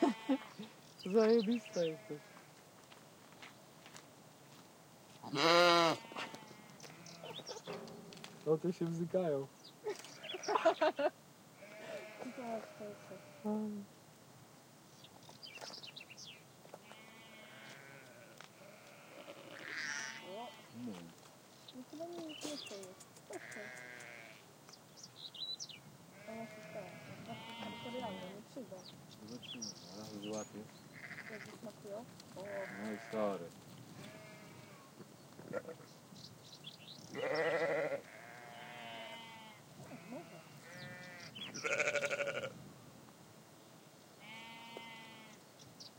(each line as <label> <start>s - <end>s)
Sheep 5.1s - 8.4s
Sheep 11.6s - 13.7s
Sheep 16.7s - 24.5s
Sheep 26.2s - 28.4s
Sheep 30.9s - 36.0s
Sheep 37.0s - 42.6s
Sheep 44.2s - 45.4s